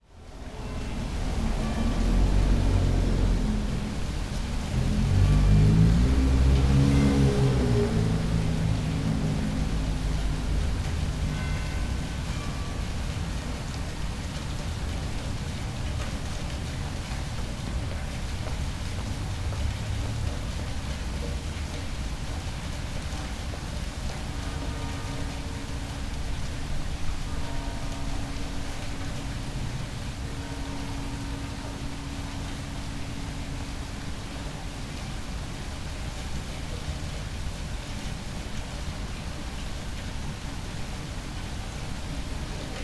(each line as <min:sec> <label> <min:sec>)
0:00.0 fountain outside the Art Gallery 0:42.8